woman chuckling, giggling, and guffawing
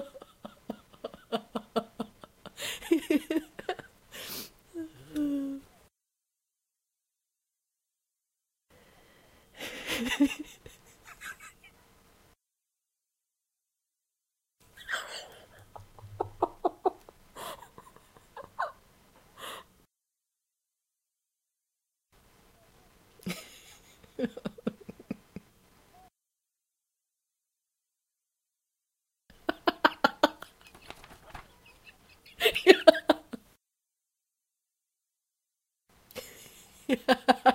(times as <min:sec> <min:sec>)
0:00.0 0:05.8, 0:09.6 0:11.8, 0:14.6 0:19.7, 0:23.2 0:26.1, 0:29.3 0:33.6, 0:36.1 0:37.5